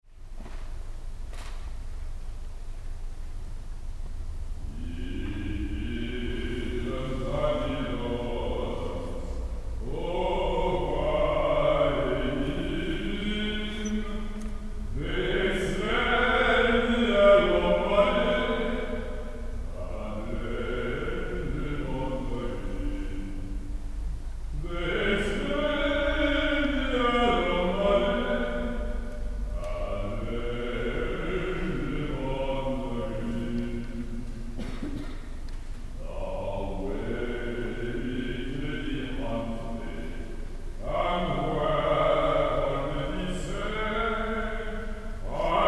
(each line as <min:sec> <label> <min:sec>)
0:04.7 Singer 0:23.9
0:24.5 Singer 0:35.4